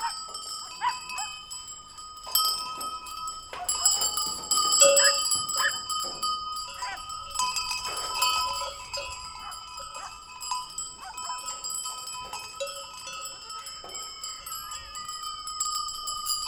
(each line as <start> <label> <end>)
0.0 dogs barking 1.4
0.0 Goat bells 16.4
3.5 dogs barking 4.0
5.0 dogs barking 5.8
6.8 dogs barking 7.1
9.4 dogs barking 10.2
11.0 dogs barking 11.5